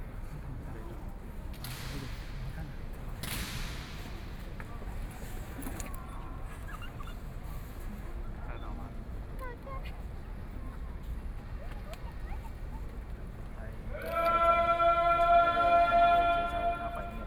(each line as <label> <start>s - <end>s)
Tourists 13.6s - 17.2s
Guard ceremony 13.9s - 17.2s